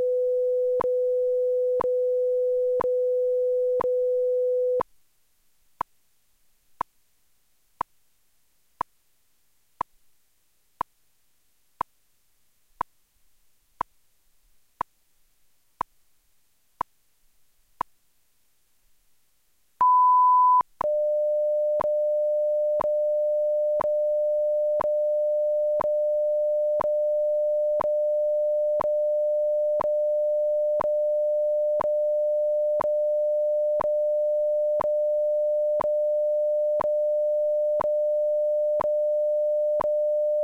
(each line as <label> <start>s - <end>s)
time signal 19.8s - 22.1s